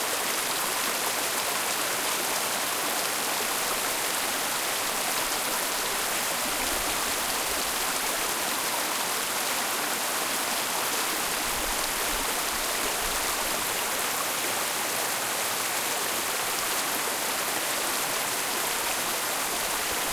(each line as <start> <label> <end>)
0.0 small stream/brook 20.1